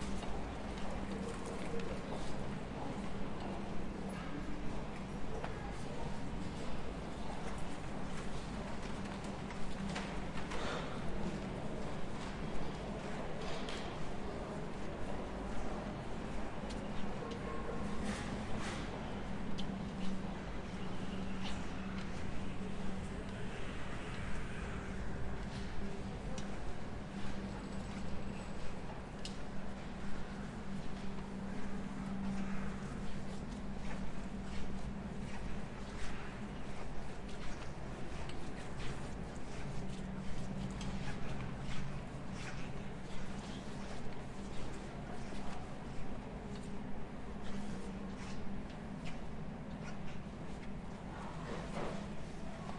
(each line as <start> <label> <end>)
0.0 Walking through the shop 52.7